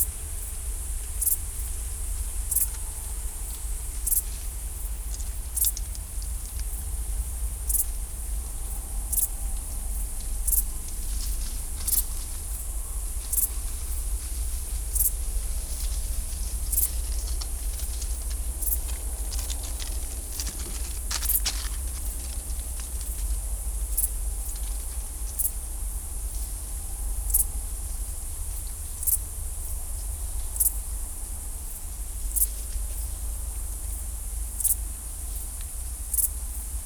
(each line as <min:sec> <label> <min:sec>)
0:10.2 Rodent activity 0:25.5